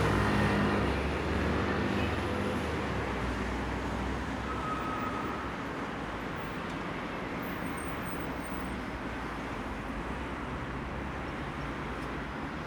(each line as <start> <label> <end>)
0.0 traffic 12.6